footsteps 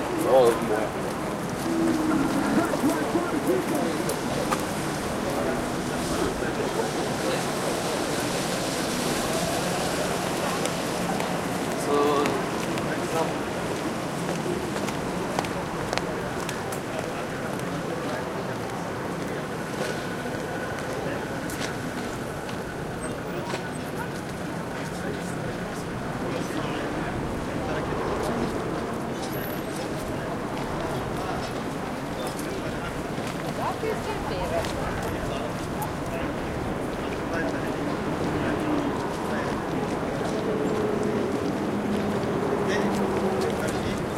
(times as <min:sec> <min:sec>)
0:01.1 0:05.3